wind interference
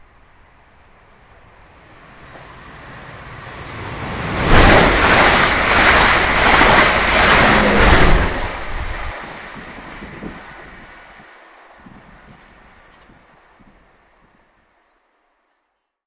3.3 12.6

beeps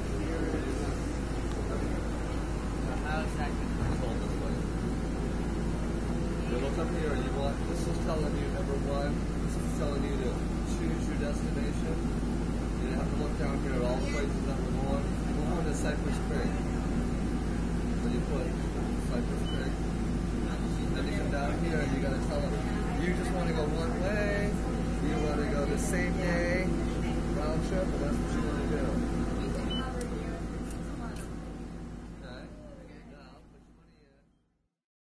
29.7 30.0

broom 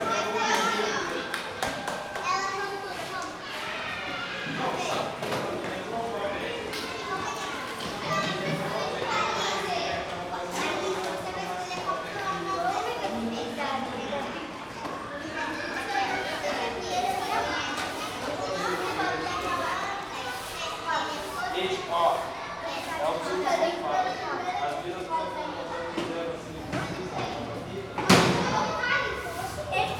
17.1 23.0, 29.2 29.8

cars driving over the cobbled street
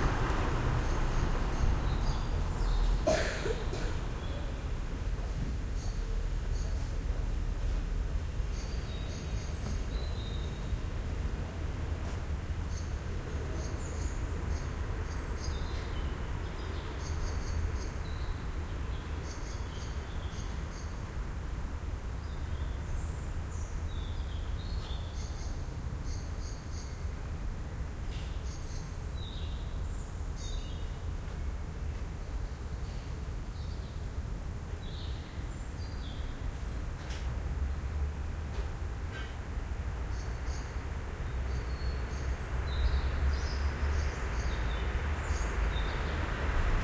0.0 25.0, 36.7 46.8

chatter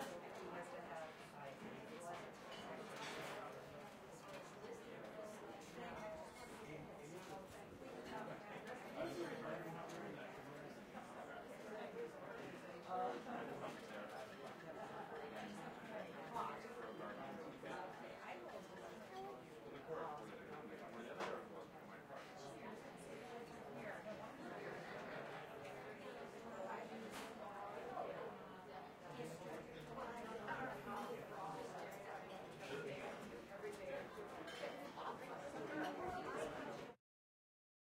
22.4 37.0

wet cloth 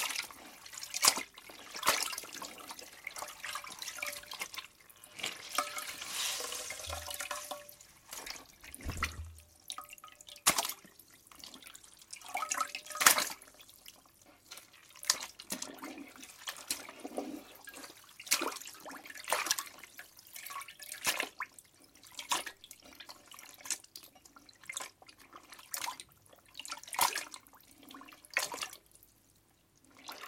0.0 9.8

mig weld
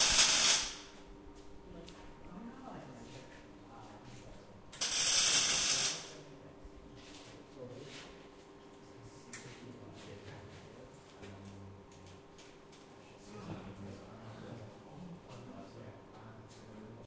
0.0 1.0, 4.7 6.2

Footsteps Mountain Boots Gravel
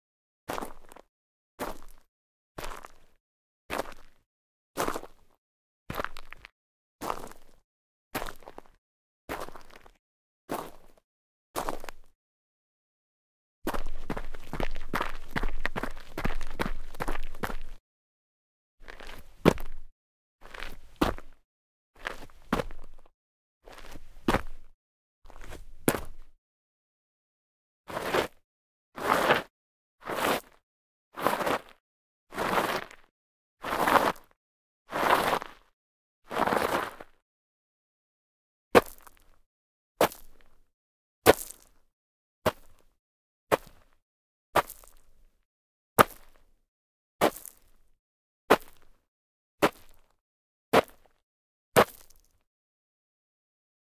13.7 17.8, 18.8 21.4, 22.0 23.0, 44.6 45.0, 47.2 47.6, 51.8 52.3

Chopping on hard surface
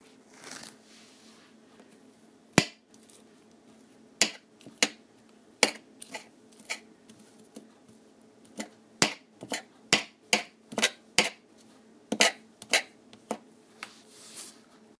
9.9 11.4

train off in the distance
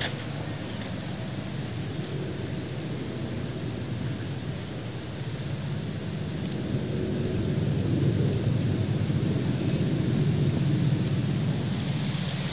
10.6 12.5

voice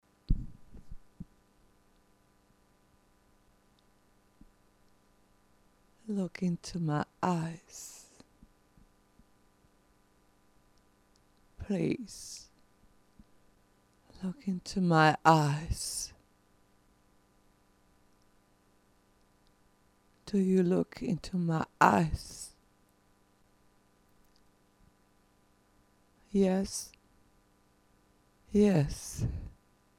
6.1 8.1, 11.6 12.5, 14.2 16.1, 20.3 22.5, 26.3 26.9, 28.5 29.5

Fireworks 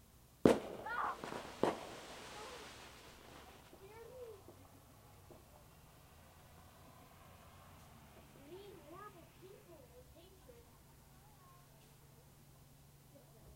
0.4 7.5

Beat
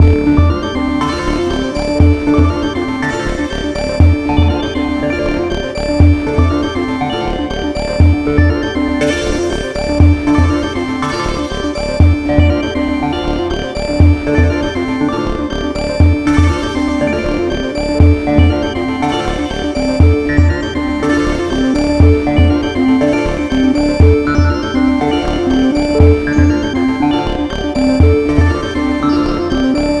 0.0 5.0, 17.9 30.0

